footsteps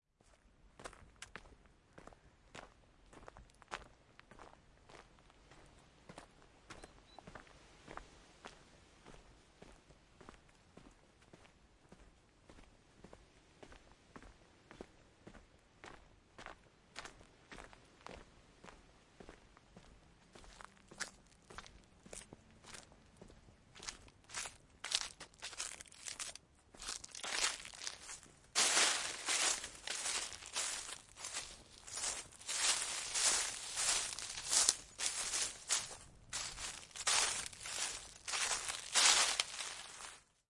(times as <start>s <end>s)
24.3s 40.2s